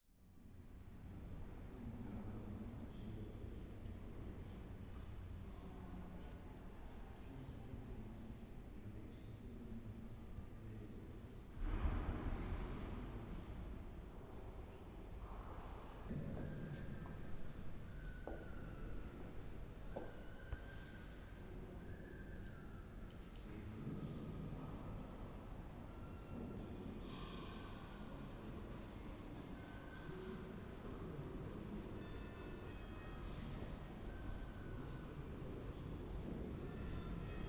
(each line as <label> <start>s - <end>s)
Small noises inside the cathedral 0.1s - 37.4s